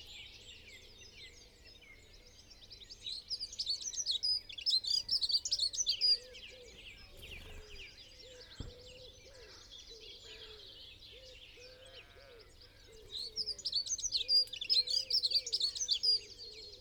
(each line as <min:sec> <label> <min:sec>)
0:00.0 blackbird 0:16.8
0:00.0 pheasant 0:16.8
0:00.0 song thrush 0:16.8
0:06.6 collared dove 0:09.6
0:06.7 wood pigeon 0:09.4
0:07.6 crow 0:13.6